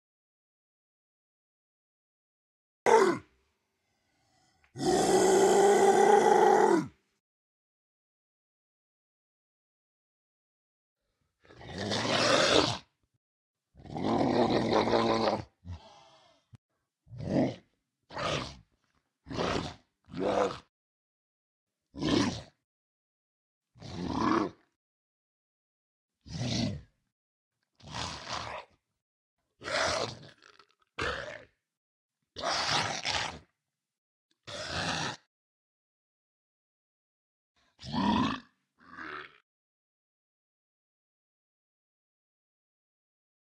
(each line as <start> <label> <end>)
2.9 growl 3.3
4.0 growl 7.0
11.4 growl 12.9
13.8 growl 20.7
21.9 growl 22.6
23.8 growl 24.8
26.3 growl 26.9
27.8 growl 28.8
29.6 growl 31.6
32.4 growl 33.5
34.4 growl 35.3
37.6 growl 39.4